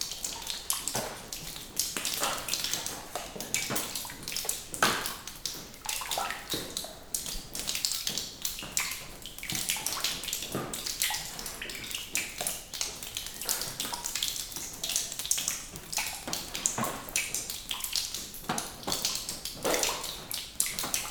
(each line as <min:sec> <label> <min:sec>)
0:00.0 Drips of water falling on the floor and on plastic covers 0:21.1